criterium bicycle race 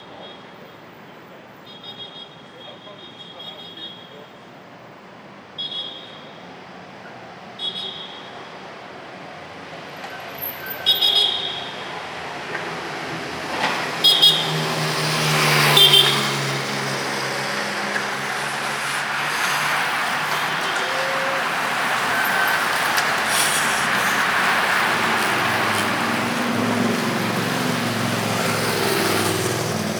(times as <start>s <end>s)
6.9s 29.9s